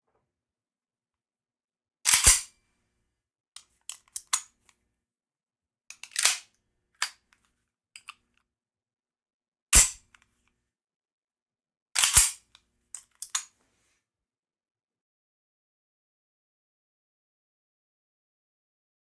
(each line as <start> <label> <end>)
12.0 chambering my springfield 1911 .45acp 12.4